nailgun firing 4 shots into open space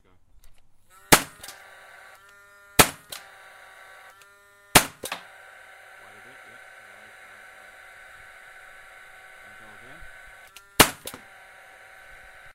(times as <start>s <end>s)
1.1s 1.6s, 2.8s 3.3s, 4.8s 5.3s, 10.8s 11.3s